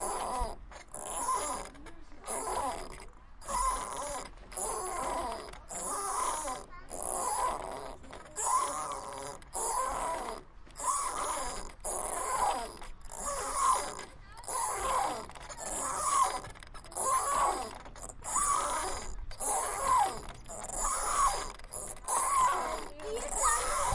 squeaking swing 0.0 - 23.9

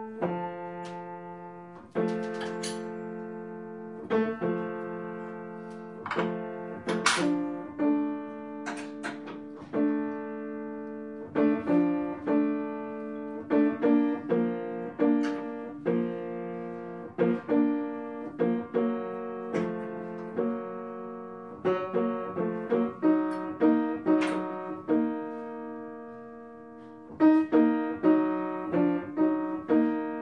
Piano Tuner 0.0 - 30.2

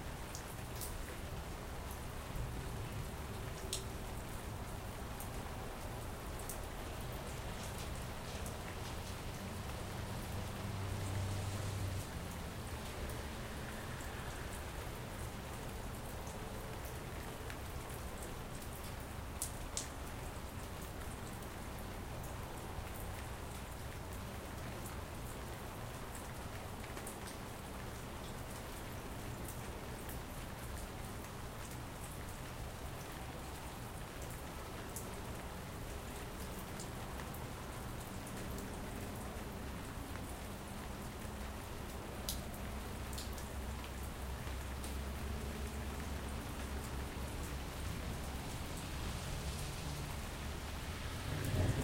rain 0.0 - 51.8
thunder 51.3 - 51.8

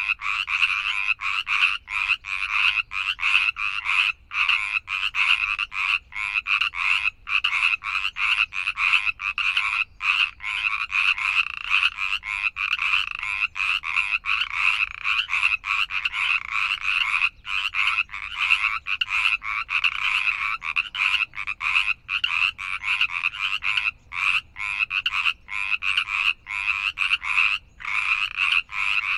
frogs 0.0 - 29.1

